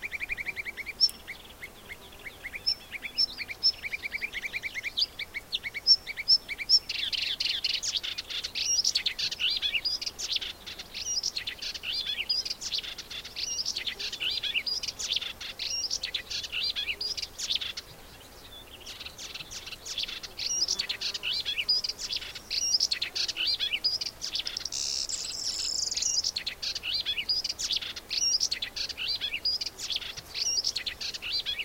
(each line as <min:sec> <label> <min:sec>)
0:18.9 high-pitched, very varied call of a bird 0:31.6